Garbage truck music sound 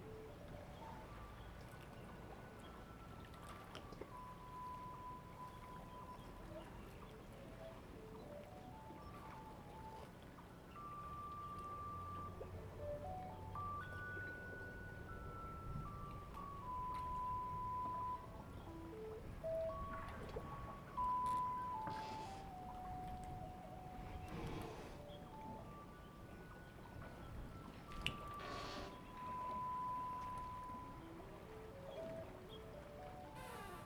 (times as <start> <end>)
11.0 24.4